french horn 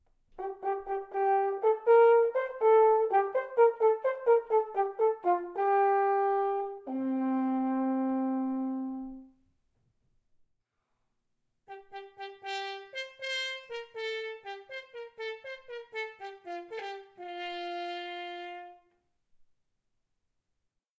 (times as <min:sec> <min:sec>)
0:00.4 0:09.4, 0:11.7 0:19.0